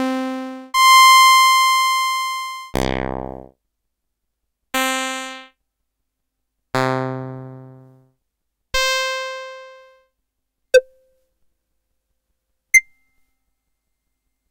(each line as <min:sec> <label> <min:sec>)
0:02.8 bassdrum 0:03.5